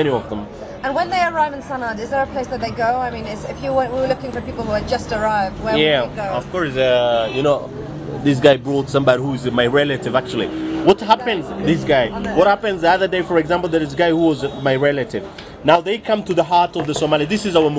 Taxi driver in Sana'a talk 5.6 - 16.1

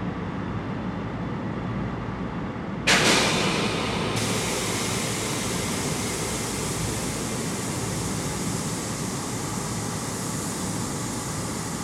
Resting Trains 2.9 - 11.7

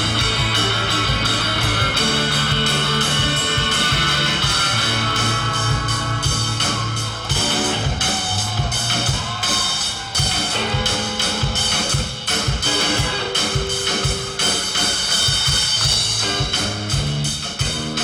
Rock band performing 0.0 - 18.0

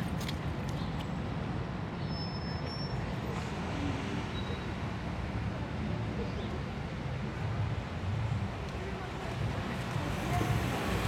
passers-by 0.0 - 11.0
traffic 0.0 - 11.0
workers gather around the two bus stops 0.0 - 11.0

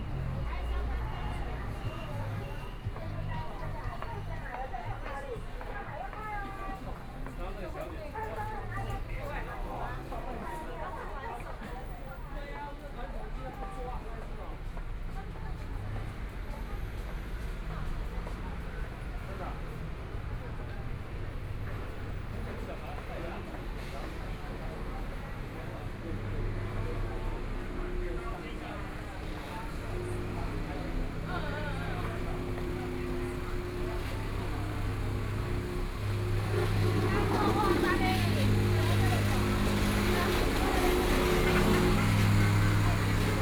Traffic Sound 0.0 - 10.2
Various shops voices 0.0 - 43.4
Walking on the road 0.0 - 43.4
Traffic Sound 15.7 - 43.4
Motorcycle sound 29.2 - 43.4

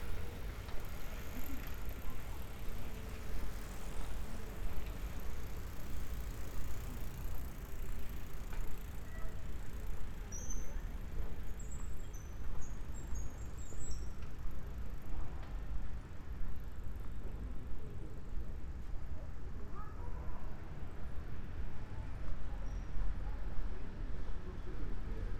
bicycles 0.0 - 20.0

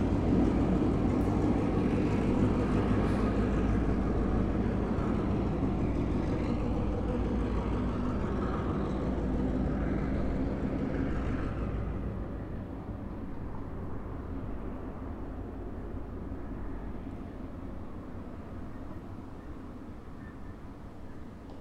Train arriving but non-abiding 0.0 - 21.6

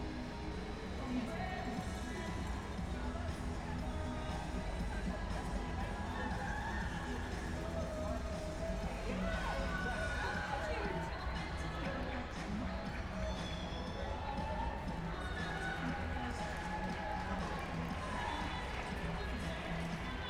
background noise 0.0 - 20.2

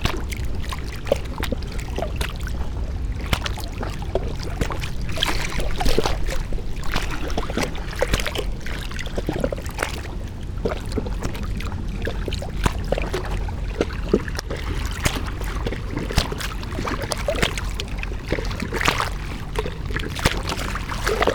lapping waves 0.0 - 21.3
wind 0.0 - 21.3

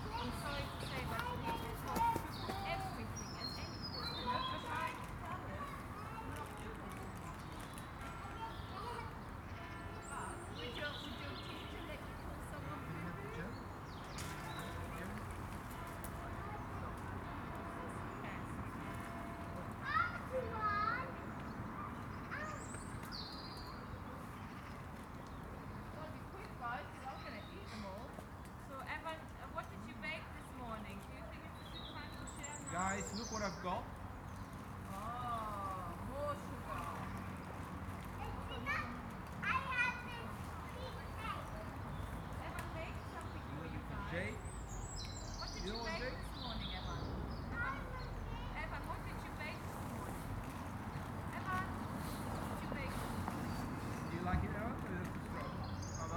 kids playing 0.0 - 12.2
kids playing 19.1 - 23.2
kids playing 34.9 - 43.4
kids playing 46.7 - 53.6

